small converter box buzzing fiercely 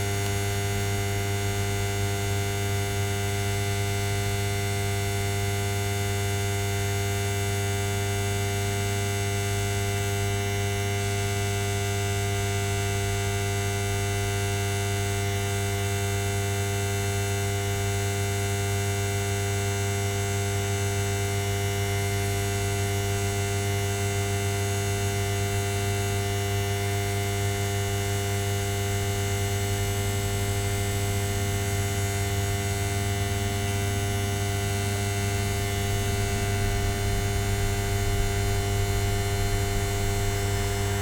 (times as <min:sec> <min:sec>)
0:29.3 0:41.0